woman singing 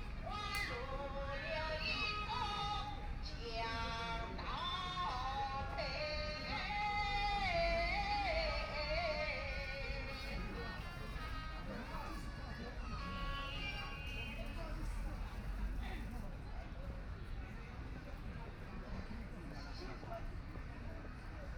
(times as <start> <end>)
0.2 10.6